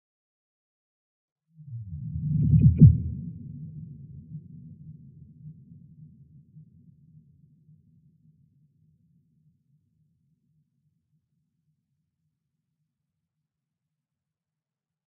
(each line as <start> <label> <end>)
1.8 Bass effect 3.3